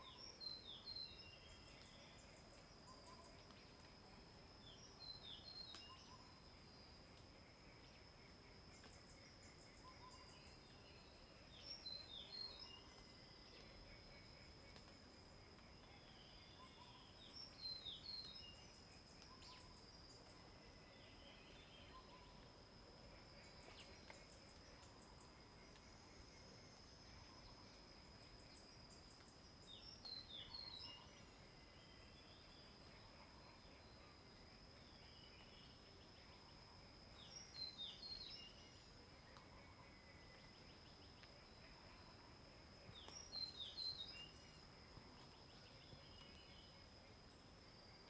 0.0s Frogs 48.0s

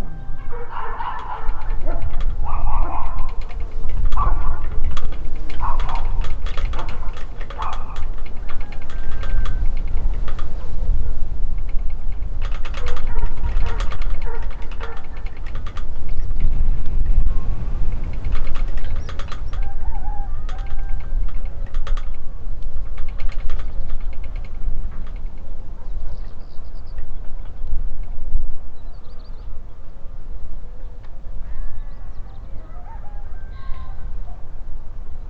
0.0s trembling lamppost 28.3s

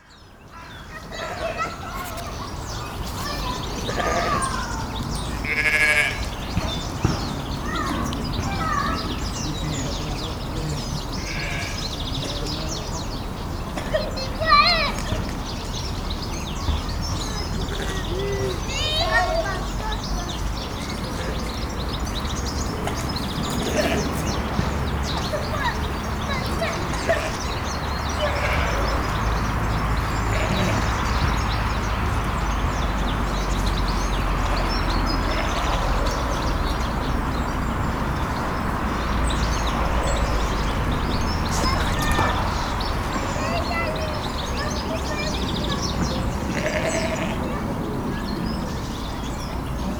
0.0s birds singing 49.9s
0.0s kids have fun 49.9s
3.8s sheep bleat 4.7s
5.4s sheep bleat 6.3s
11.2s sheep bleat 11.9s
22.9s sheep bleat 24.3s
26.9s sheep bleat 27.5s
28.2s sheep bleat 29.2s
30.2s sheep bleat 31.2s
35.2s sheep bleat 36.0s
46.5s sheep bleat 47.5s

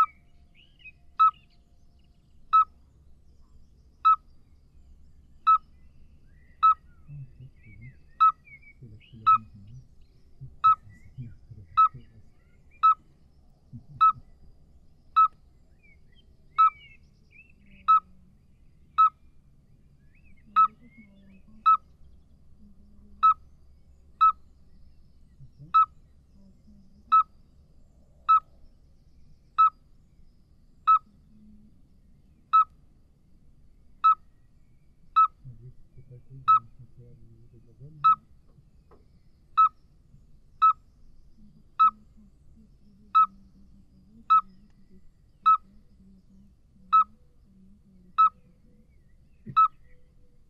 0.0s Common midwife toad 0.2s
1.2s Common midwife toad 1.4s
2.5s Common midwife toad 2.8s
4.0s Common midwife toad 4.3s
5.4s Common midwife toad 5.8s
6.6s Common midwife toad 13.1s
8.8s people is speaking 12.3s
13.7s Common midwife toad 14.4s
13.7s people is speaking 14.2s
15.1s Common midwife toad 15.4s
16.5s Common midwife toad 17.0s
17.6s Common midwife toad 18.3s
18.9s Common midwife toad 19.2s
20.4s Common midwife toad 24.5s
25.4s Common midwife toad 27.4s
28.1s Common midwife toad 28.6s
29.5s Common midwife toad 29.9s
30.8s Common midwife toad 32.8s
34.0s Common midwife toad 34.3s
35.1s Common midwife toad 38.6s
35.5s people is speaking 38.2s
39.5s Common midwife toad 39.8s
40.6s Common midwife toad 50.4s

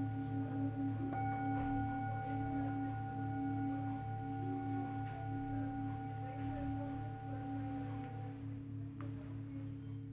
0.0s gongs 10.1s
0.0s chimes 10.1s
0.0s sound bowls 10.1s

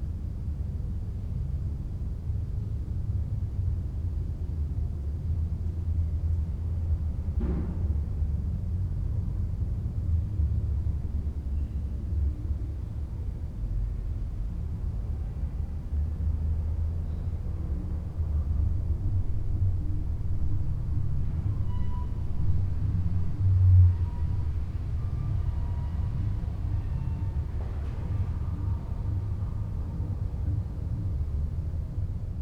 21.6s door squeak 22.6s

